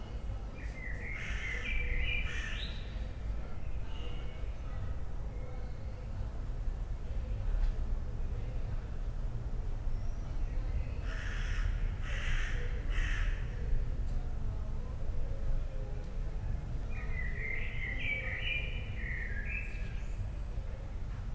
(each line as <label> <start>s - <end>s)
crows 11.1s - 13.5s
blackbird 16.9s - 20.2s